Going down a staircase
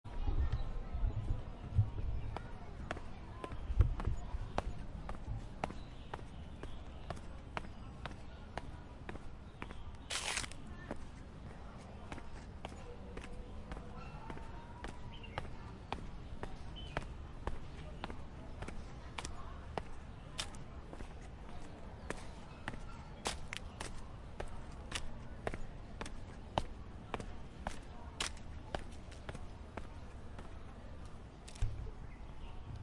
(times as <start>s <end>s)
10.8s 31.8s